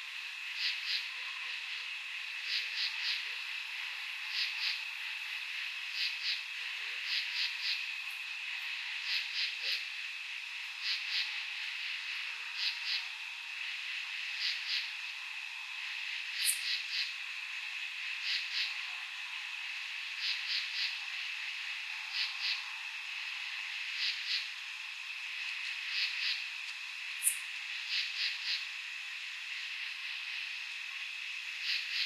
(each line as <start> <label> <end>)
0.0 insects 32.0
0.0 tree frogs 32.0